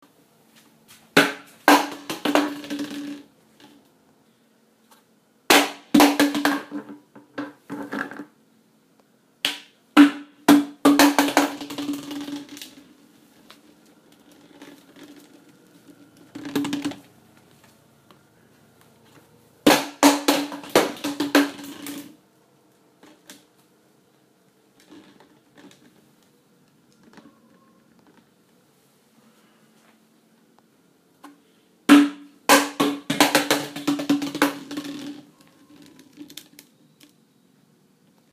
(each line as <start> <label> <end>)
1.1 plastic bottle dropping and bouncing 3.8
5.5 plastic bottle dropping and bouncing 8.4
9.5 plastic bottle dropping and bouncing 12.9
13.6 plastic bottle dropping and bouncing 17.1
19.7 plastic bottle dropping and bouncing 22.2
24.8 plastic bottle dropping and bouncing 26.0
31.2 plastic bottle dropping and bouncing 36.7